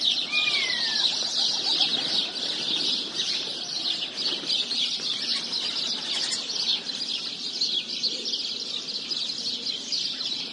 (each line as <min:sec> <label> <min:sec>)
0:00.0 House sparrow 0:10.5
0:00.0 birds chirping 0:10.5
0:00.0 pigeons 0:10.5